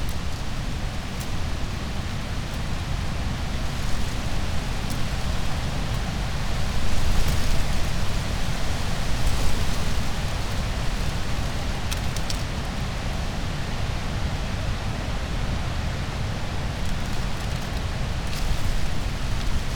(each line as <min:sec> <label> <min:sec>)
0:00.0 wind 0:19.7